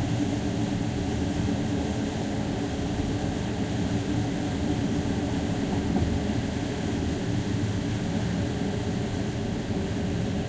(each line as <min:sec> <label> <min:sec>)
0:05.0 train journey 0:08.4